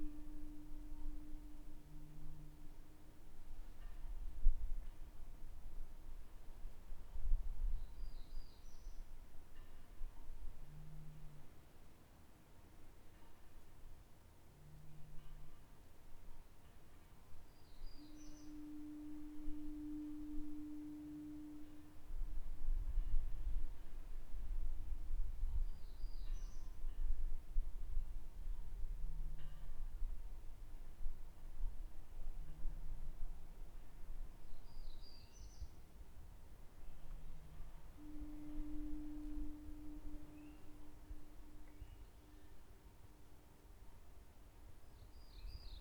distant buoy 0:00.0 - 0:04.0
distant buoy 0:18.0 - 0:23.1
distant buoy 0:36.9 - 0:43.3

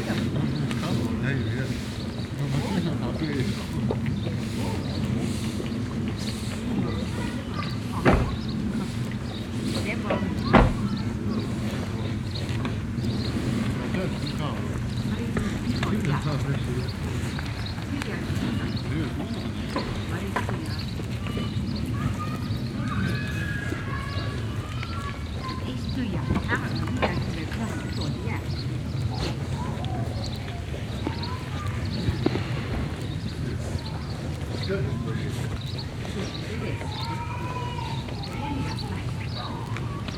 Children play across the street 0:00.0 - 0:40.1
talk 0:00.0 - 0:40.1
man sweeps the floor of his backyard 0:00.1 - 0:02.6
man sweeps the floor of his backyard 0:03.4 - 0:10.2

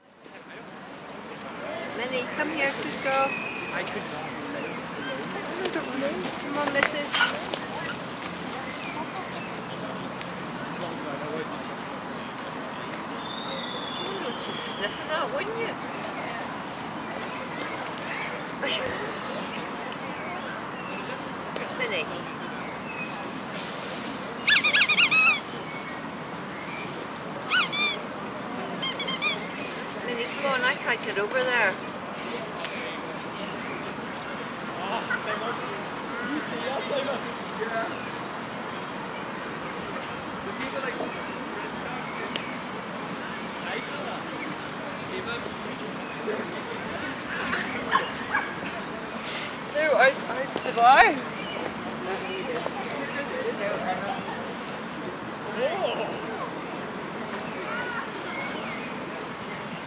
passer-by’s chatting 0:00.0 - 0:59.8
various birds at different distances 0:00.1 - 0:59.8

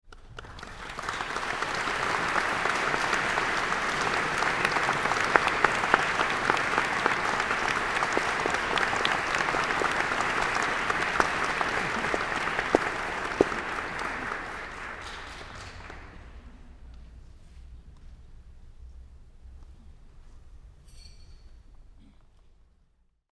Applause 0:00.0 - 0:16.8

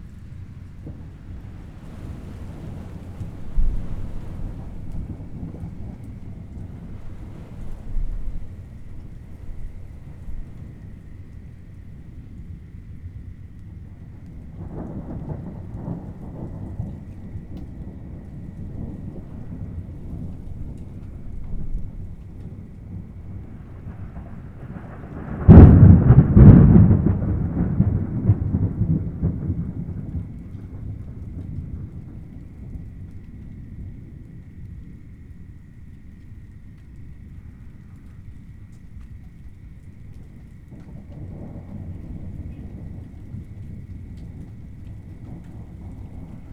Rainfall 0:00.0 - 0:46.5
outdoor warning sirens 0:00.0 - 0:46.5
Severe Warned Storm 0:14.6 - 0:32.8

